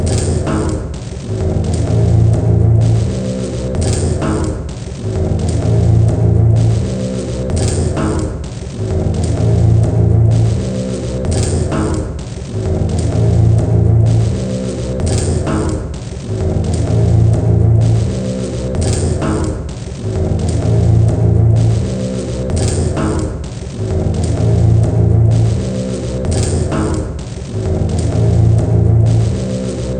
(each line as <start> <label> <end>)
0.0 Drum Loop 29.9